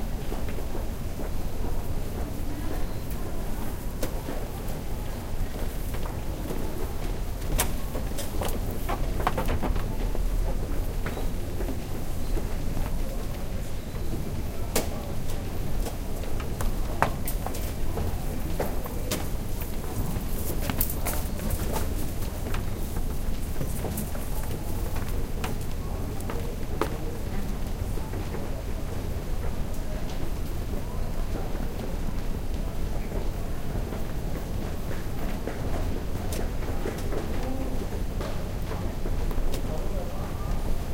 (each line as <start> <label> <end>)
5.6 footsteps 13.4
6.0 Mechanical stairs 13.3